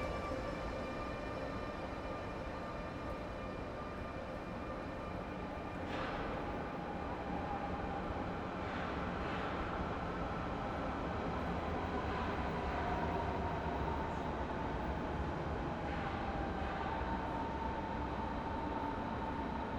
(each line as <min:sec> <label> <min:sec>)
0:00.0 regional train arrives and departs 0:19.7